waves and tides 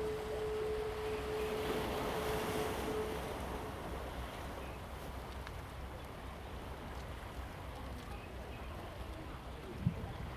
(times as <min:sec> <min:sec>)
0:00.0 0:05.1